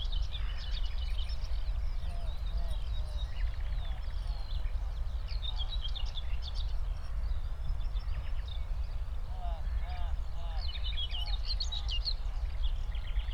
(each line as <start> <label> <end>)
0.0 Skylarks 13.3
0.1 Common whitethroat (Dorngrasmücke, Curruca communis) calling nearby 13.3
0.2 Nightingale in a distance 11.4